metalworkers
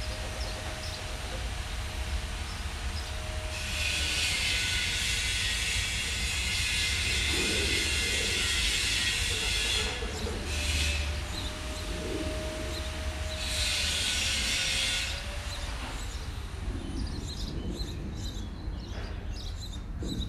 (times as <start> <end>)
3.0 16.2